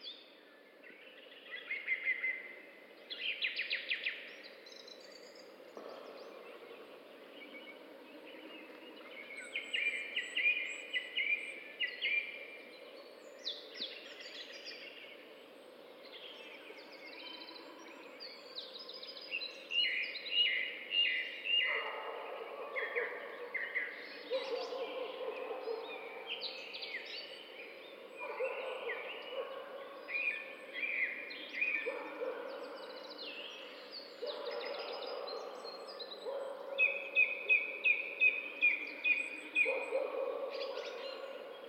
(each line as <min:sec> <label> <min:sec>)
0:00.0 birds 0:41.6
0:05.8 distant dogs 0:09.1
0:21.6 distant dogs 0:41.6